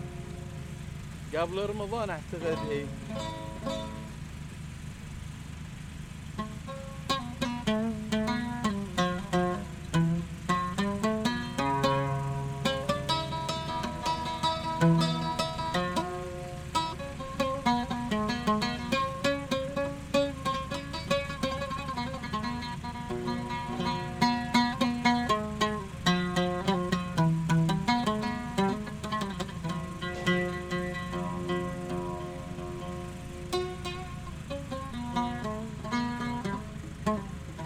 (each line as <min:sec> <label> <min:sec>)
0:00.0 Darbouka 0:37.6
0:00.0 Oud 0:37.6
0:01.3 groupe électrogène 0:04.1